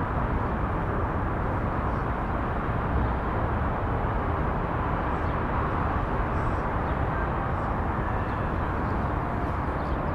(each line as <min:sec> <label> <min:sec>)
0:00.0 City ambient 0:10.1